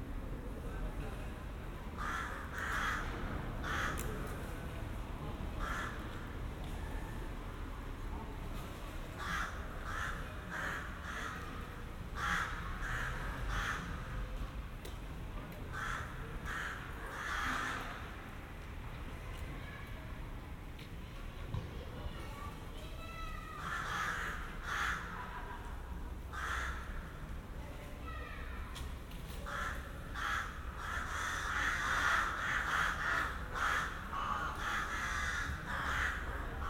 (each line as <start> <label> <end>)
2.0 ravens 4.1
5.6 ravens 6.0
9.2 ravens 14.2
15.7 ravens 18.1
23.5 ravens 25.3
26.3 ravens 27.2
29.4 ravens 36.6